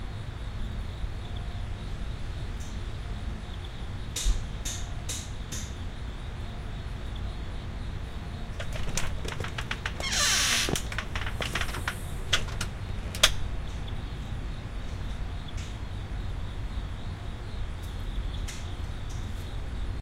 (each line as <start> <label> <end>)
8.5 storm door 13.8
8.6 steps 13.2
8.6 creak 13.4